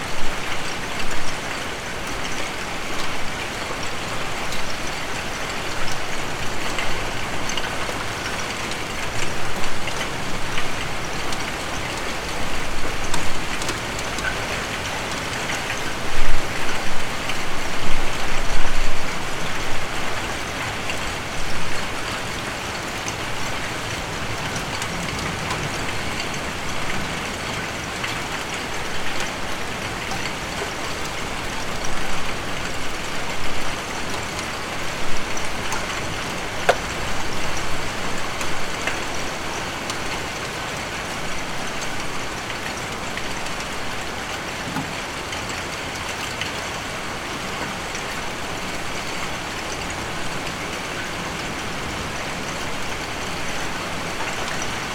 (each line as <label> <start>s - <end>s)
heavy rain with hailstone 0.0s - 54.9s